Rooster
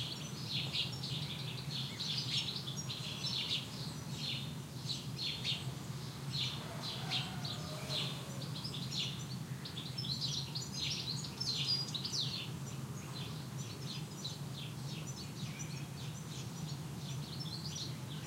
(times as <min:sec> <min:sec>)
0:06.6 0:08.5